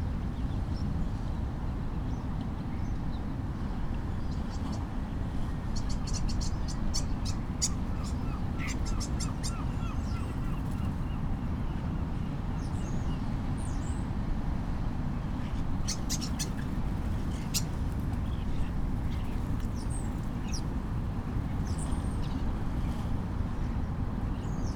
Flocking starlings 5.8 - 11.2
bird calls from herring gull 7.6 - 10.6
Flocking starlings 15.5 - 22.6

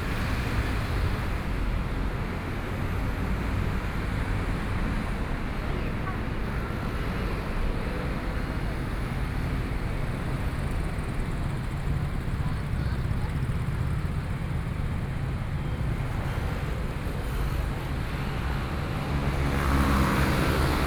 Traffic Sound 0.0 - 20.8
Walking on the road 8.2 - 17.0

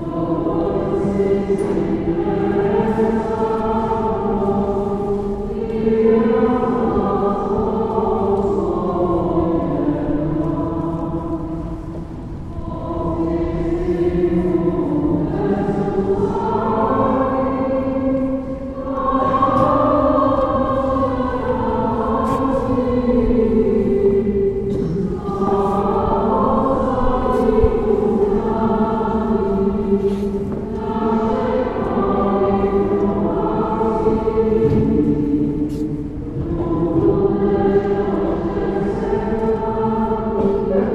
people leaving the church 0.0 - 40.9

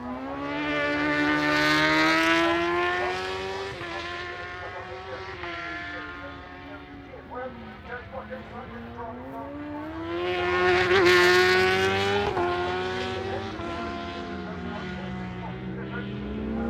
superbikes qualifying 0.0 - 16.6

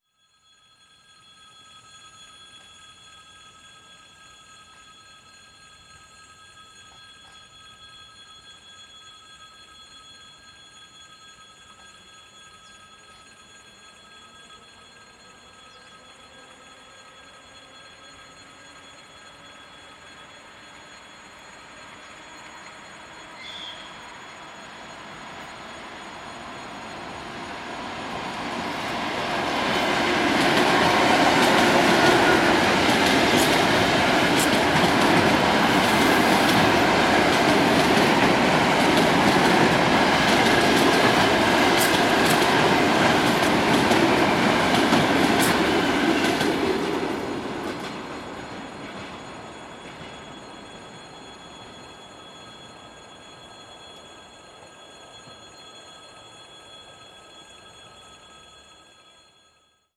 Warning bell is ringging all recording time 0.0 - 59.9
Suburban electric train is passing from left to right 0.4 - 59.7

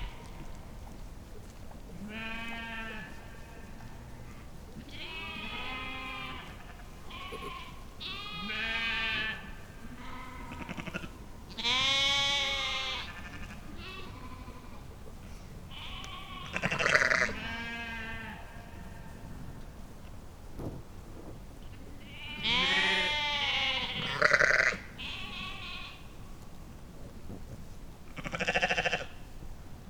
sheep 0.0 - 19.8
sheep 21.6 - 29.4

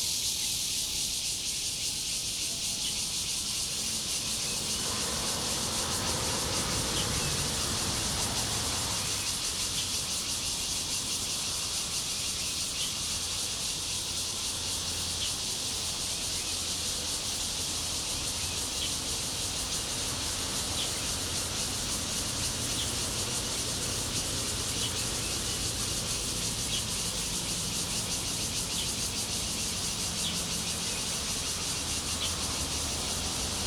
Cicadas 0.0 - 33.6
Traffic sound 2.1 - 33.6
Garbage truck passes 3.0 - 33.6
train running through 3.1 - 11.7

